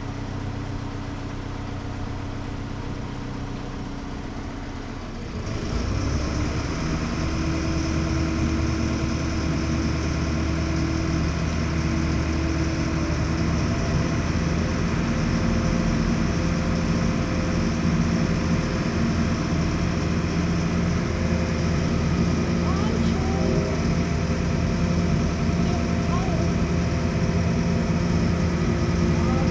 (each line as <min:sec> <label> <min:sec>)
0:07.1 rhine ferry 0:29.5